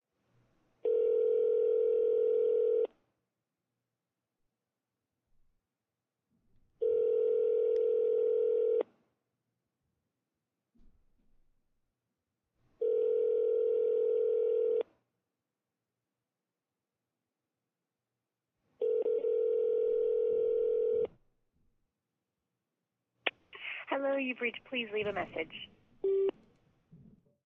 Telephone, speaker, rings 0:00.9 - 0:02.9
Telephone, speaker, rings 0:06.8 - 0:08.8
Telephone, speaker, rings 0:12.8 - 0:14.8
Telephone, speaker, rings 0:18.8 - 0:21.1

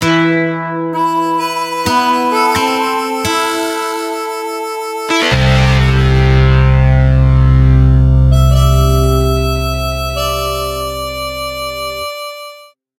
electric guitar 0:00.0 - 0:12.6
nylon guitar 0:00.0 - 0:09.8
harmonica 0:00.9 - 0:12.8
vibraslap 0:01.0 - 0:12.6

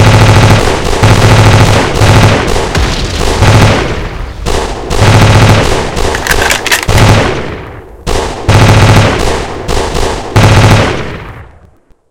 Tank 0:00.0 - 0:07.7
Gun Battle 0:00.0 - 0:11.5
Explosion 0:01.8 - 0:06.1

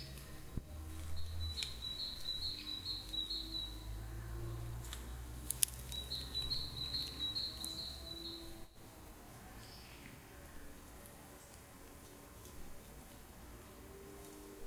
birds 0:00.0 - 0:04.9
birds 0:05.6 - 0:08.9

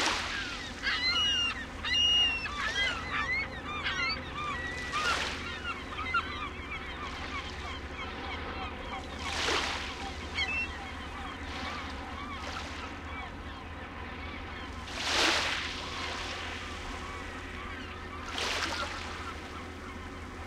waves splashing on the beach 0:00.0 - 0:00.9
seagull screechings 0:00.0 - 0:20.4
waves splashing on the beach 0:09.2 - 0:10.6
waves splashing on the beach 0:14.8 - 0:17.2

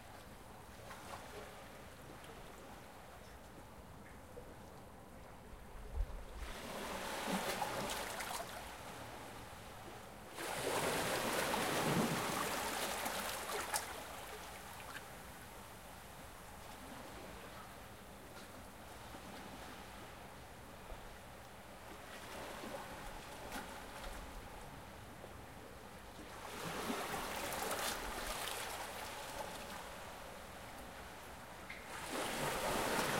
waves hit shore 0:10.4 - 0:14.6
waves hit shore 0:31.9 - 0:33.1

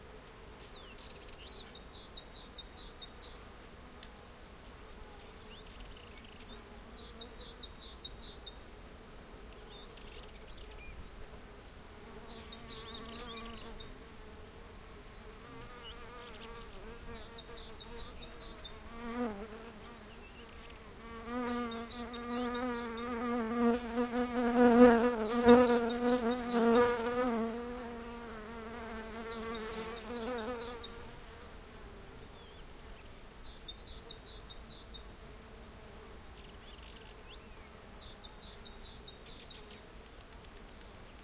birds sing 0:00.6 - 0:08.6
large-bodied bee flies near the mics 0:09.3 - 0:32.8
birds sing 0:09.5 - 0:14.6
birds sing 0:15.5 - 0:31.1
birds sing 0:31.8 - 0:39.9

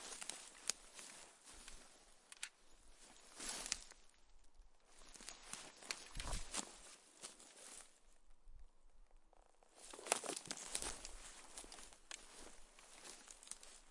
rustle 0:00.0 - 0:08.2
Soldier in World War II gear moving 0:04.9 - 0:08.0
rustle 0:09.3 - 0:13.9
Soldier in World War II gear moving 0:09.6 - 0:13.9

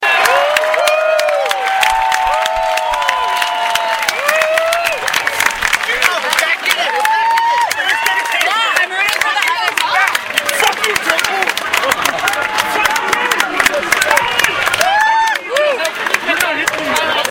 Claps after a home run 0:00.0 - 0:17.3

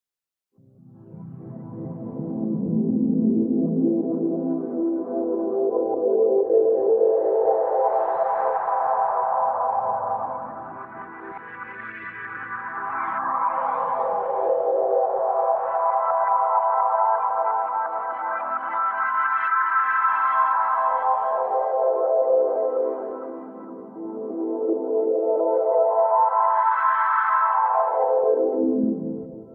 pad sequenced with a chord 0:00.6 - 0:29.5

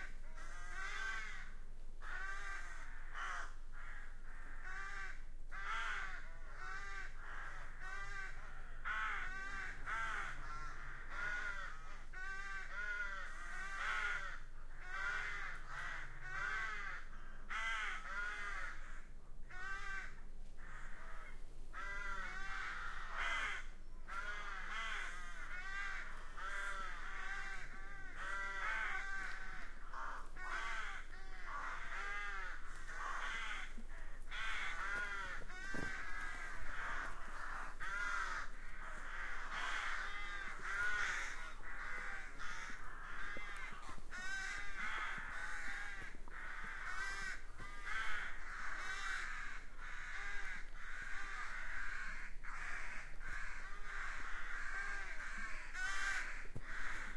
flock of crows 0:00.0 - 0:57.1

